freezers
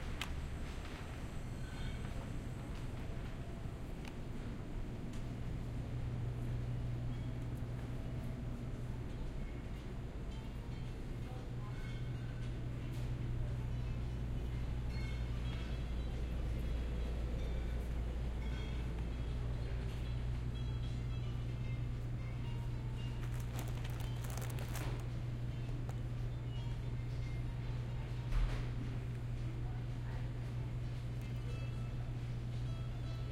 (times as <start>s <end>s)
22.0s 26.8s